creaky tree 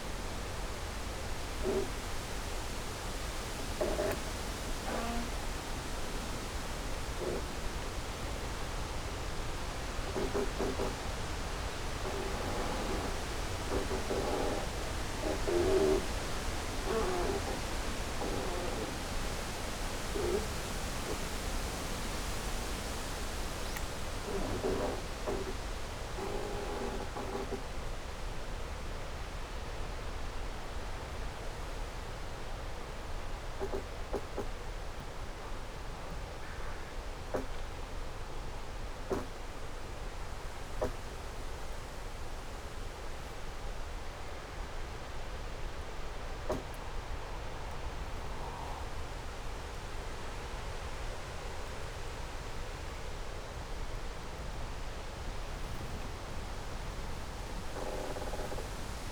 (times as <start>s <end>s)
1.4s 27.7s, 55.4s 59.1s